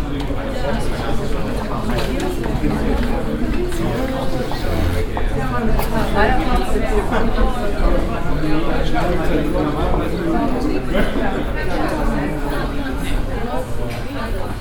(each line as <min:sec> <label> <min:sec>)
0:00.0 conversations 0:14.6
0:03.0 steps 0:06.1